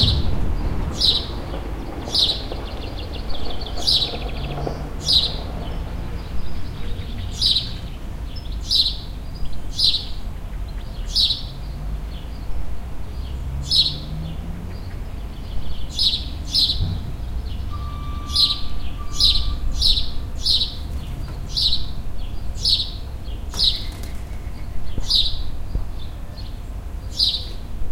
wind may blow 0.0 - 3.6
birds 0.0 - 27.7

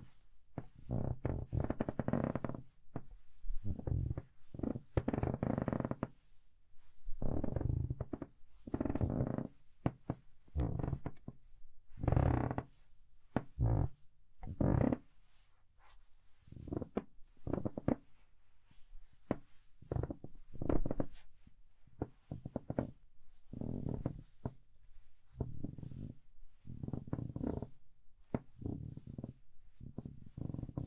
Creaking Floorboard 0.6 - 2.6
Creaking Floorboard 3.6 - 6.1
Creaking Floorboard 7.2 - 11.4
Creaking Floorboard 12.0 - 12.7
Creaking Floorboard 13.3 - 15.0
Creaking Floorboard 16.7 - 18.0
Creaking Floorboard 19.3 - 21.1
Creaking Floorboard 22.3 - 24.6
Creaking Floorboard 25.4 - 27.7
Creaking Floorboard 28.3 - 30.8

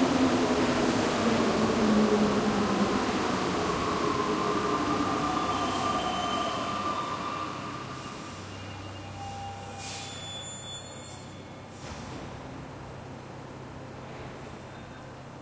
Subway arriving at its station 0.0 - 15.4

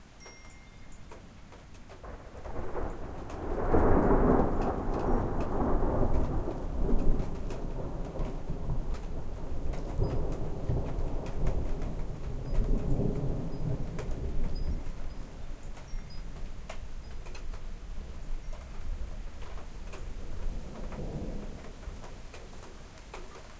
Thunder going off higher in the sky 2.0 - 16.2
Thunder going off higher in the sky 20.0 - 22.6

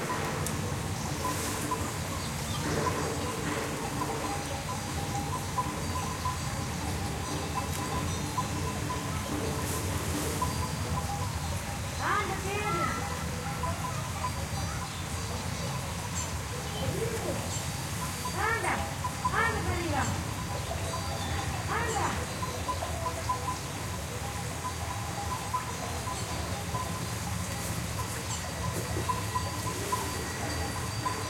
sheepbells 0.0 - 31.2

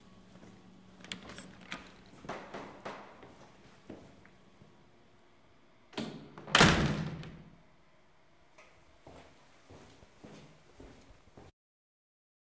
Door Open Close 1.0 - 3.3
Door Open Close 5.9 - 7.6

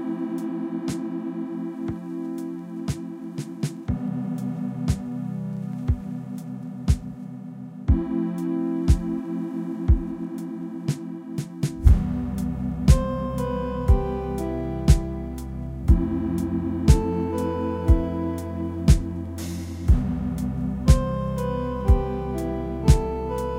Fuzzy Lofi Synth Song 0.0 - 23.5
beat 8.8 - 9.2
beat 10.9 - 23.5

